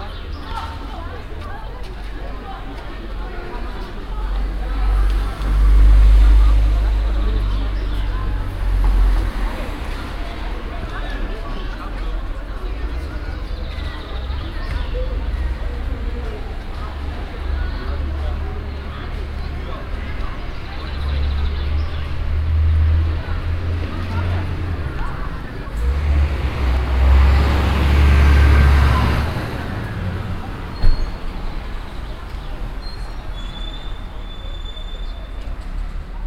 0.0s cars passing by 36.2s
9.2s kids playing soccer and joking around 21.2s

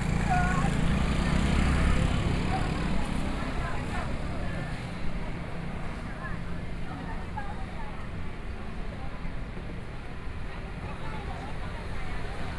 0.0s walking in the street 12.5s

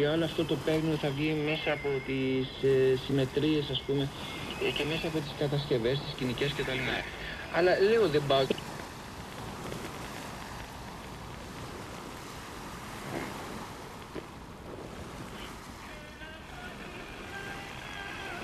0.0s voices from very far away 8.7s
0.0s Radios on the Vltava beach 18.4s
0.0s waves of local boats 18.4s
15.2s voices from very far away 18.4s

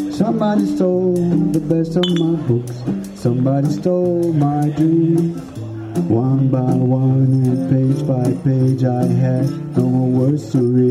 0.0s drums 10.9s
0.0s guitar 10.9s

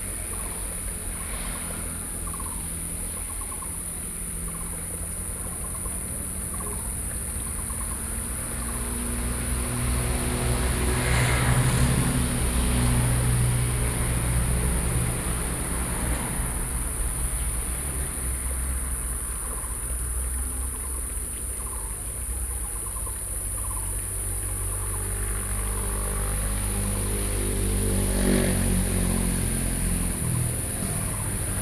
0.0s Cicadas cry 31.6s
0.0s Traffic Sound 31.6s

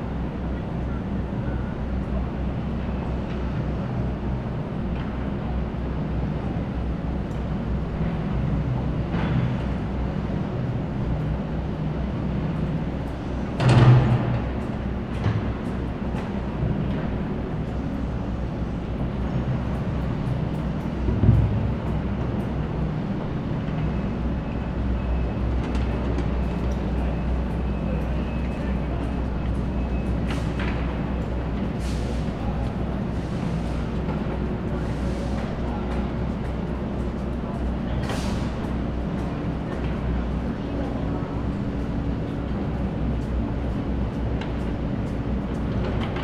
0.0s construction work 46.2s

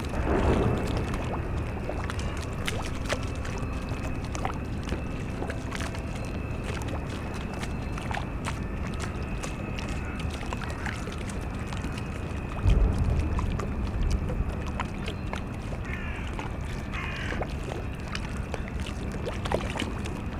0.0s distant sounds from the power station 6.4s
0.0s squeaking drone of the ferris wheel 14.5s
0.0s lapping waves of the spree river 20.3s
0.0s towboat enters the port 20.3s
11.4s distant sounds from the power station 17.4s

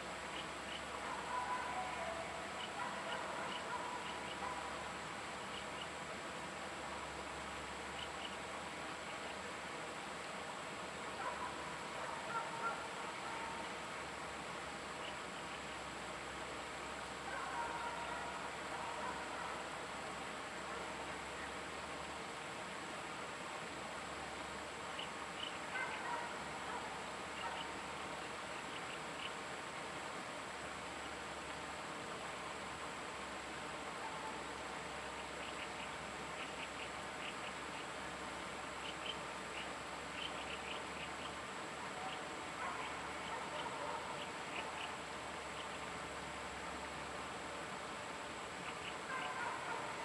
0.0s Stream sound 50.0s
2.8s Dog barking 4.7s
11.2s Dog barking 13.6s
17.3s Dog barking 19.6s
25.7s Dog barking 27.7s
42.0s Dog barking 44.2s
49.1s Dog barking 50.0s

